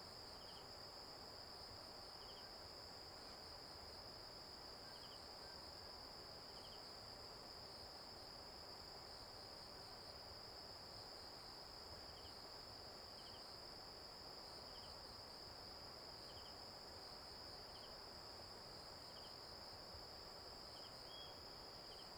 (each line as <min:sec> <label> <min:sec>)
0:20.6 Insect noise 0:22.1